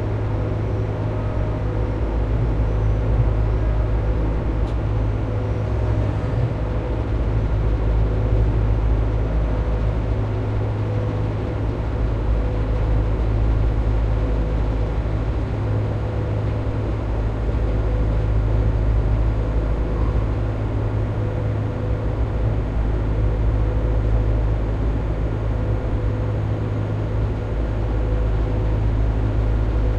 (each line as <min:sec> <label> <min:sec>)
0:00.0 noise of fan 0:29.9